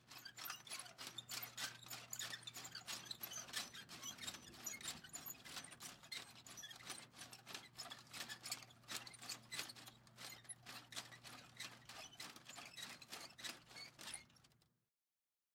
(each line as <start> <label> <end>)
0.1 Plastic Squeaks 14.5